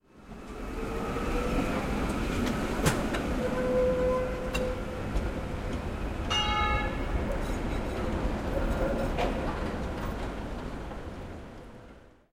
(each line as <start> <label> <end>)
6.2 bell signal of tram 9.2